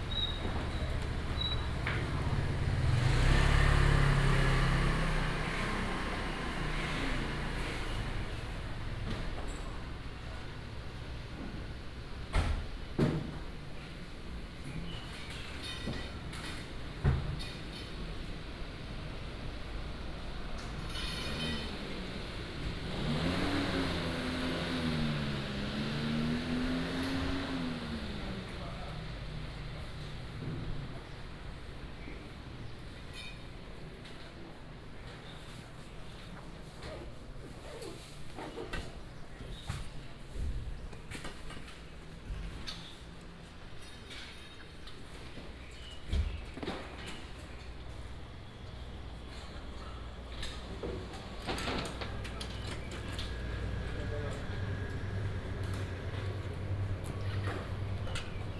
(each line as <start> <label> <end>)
0.0 Traffic sound 12.2
18.2 Traffic sound 32.6
46.8 Traffic sound 58.5